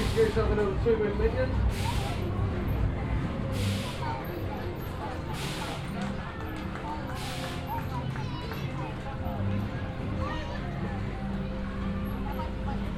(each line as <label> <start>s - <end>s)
electric trolley passing by 0.0s - 12.9s
sounds of other venues on the fairground 0.0s - 12.9s